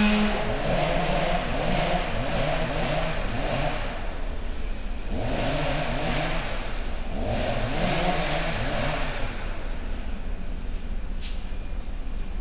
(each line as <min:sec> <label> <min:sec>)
0:00.0 chainsaw 0:09.8